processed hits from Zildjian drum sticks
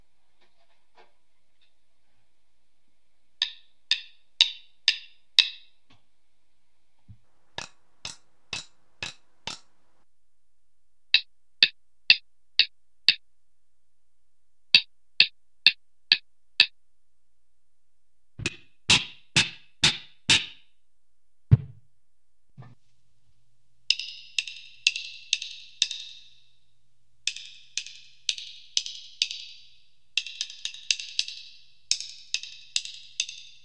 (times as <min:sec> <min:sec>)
0:03.4 0:06.0, 0:07.1 0:10.1, 0:11.1 0:13.2, 0:14.7 0:16.8, 0:18.4 0:20.7, 0:23.9 0:26.5, 0:27.2 0:33.6